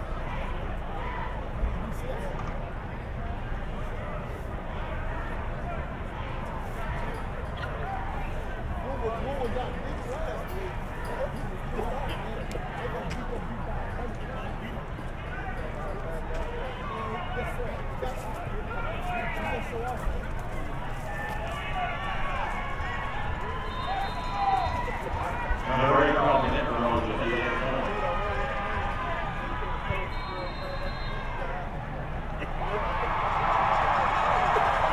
0.0s crowd 34.9s
0.0s American football 34.9s

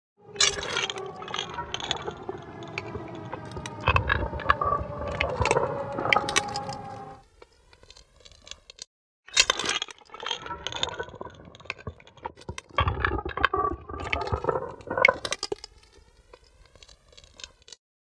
0.2s cool breeze 7.2s

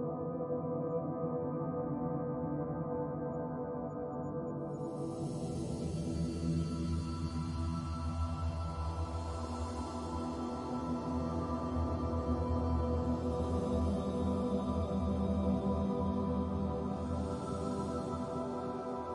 0.0s Synthesizer 19.1s

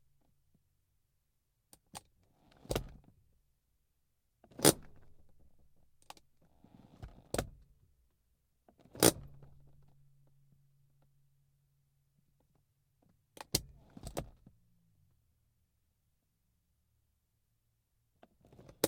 8.7s e-brake (or handbrake) being applied and released 9.8s
13.4s e-brake (or handbrake) being applied and released 14.5s

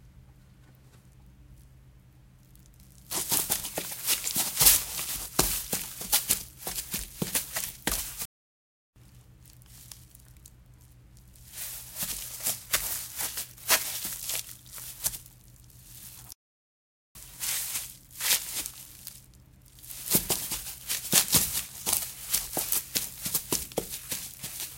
3.1s Running Footsteps on Grass 8.3s
11.4s Running Footsteps on Grass 16.3s
17.2s Running Footsteps on Grass 24.7s

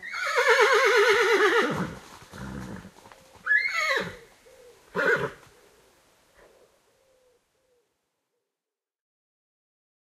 0.0s horse whinnying 4.3s
4.9s horse whinnying 5.4s

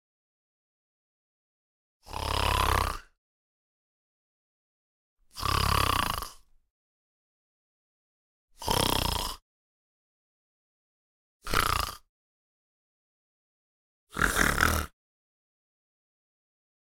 2.0s Snore male 3.2s
5.2s Snore male 6.6s
8.6s Snore male 9.4s
11.4s Snore male 12.1s
14.1s Snore male 15.0s

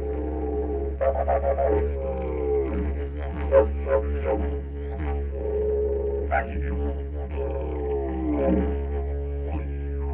0.0s didgeridoo 10.1s

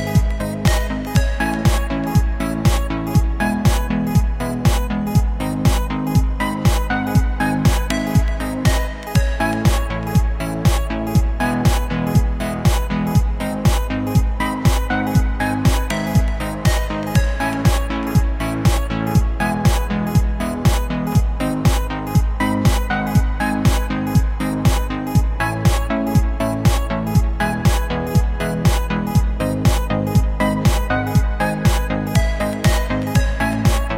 0.0s bass 33.9s
0.0s beat 33.9s
0.0s synth 33.9s

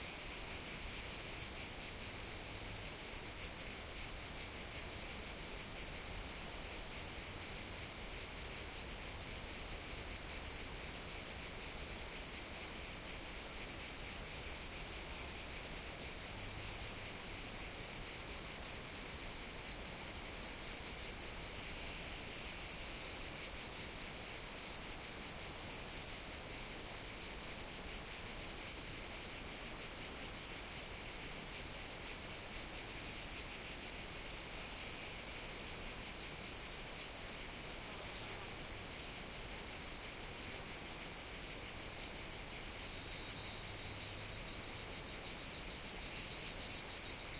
0.0s Cicadas 47.3s
0.0s Cricket 47.3s

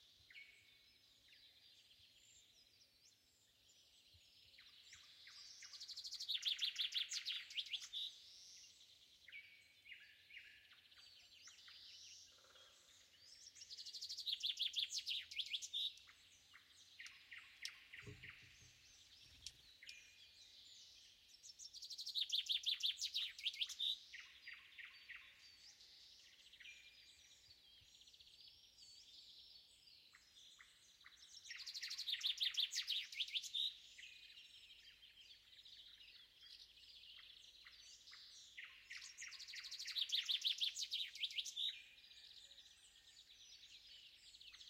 0.0s nightingale 44.6s
4.5s choirs of crickets 28.0s

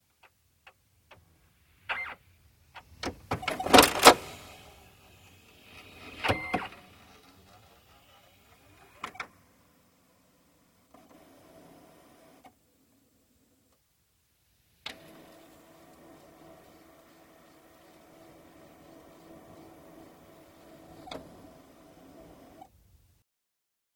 2.8s printer switching itself on 10.0s
2.8s servo sounds 10.0s
4.8s whines from the scanner part 9.3s
10.8s printer switching itself on 12.6s
14.8s printer switching itself on 22.7s

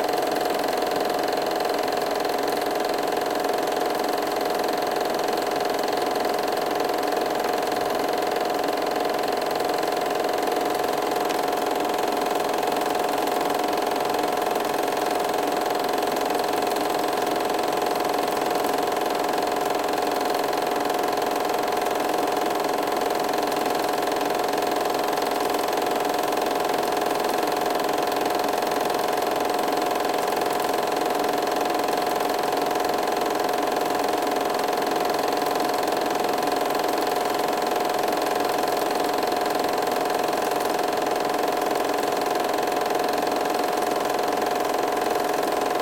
0.0s 8mm projector sound 45.8s

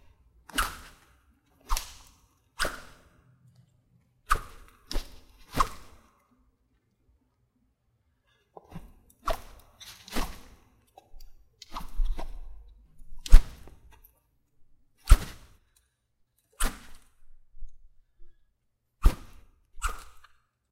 0.0s handling of the sword 3.2s
0.5s katana sword being swung close to the microphone 1.0s
1.6s katana sword being swung close to the microphone 3.1s
4.3s katana sword being swung close to the microphone 6.0s
4.3s handling of the sword 6.1s
8.5s handling of the sword 14.1s
9.2s katana sword being swung close to the microphone 10.6s
11.7s katana sword being swung close to the microphone 13.8s
15.0s katana sword being swung close to the microphone 15.6s
15.0s handling of the sword 15.6s
16.5s handling of the sword 17.9s
16.6s katana sword being swung close to the microphone 17.1s
19.0s katana sword being swung close to the microphone 20.3s
19.0s handling of the sword 20.4s

